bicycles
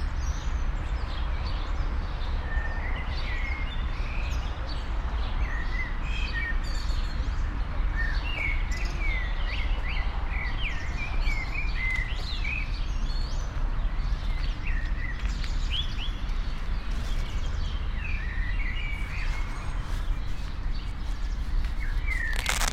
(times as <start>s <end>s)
13.2s 22.7s